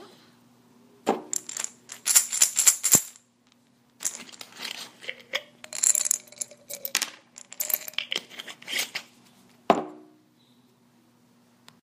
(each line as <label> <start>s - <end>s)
Shaking pills on a glass bottle 1.3s - 3.2s
Shaking pills on a glass bottle 4.0s - 9.0s
opening and closing the bottle 4.0s - 9.1s